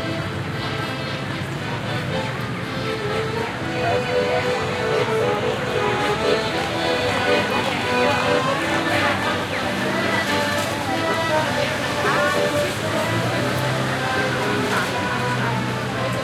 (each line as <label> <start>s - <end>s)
accordion 0.0s - 16.2s
traffic 0.0s - 16.2s
voices 0.0s - 16.2s